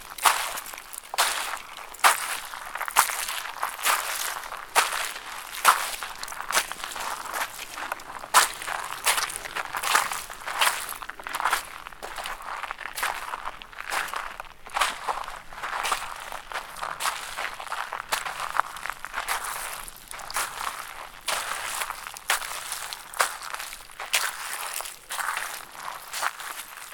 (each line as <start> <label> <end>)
0.0 Walking on edge of bacterial pond 26.9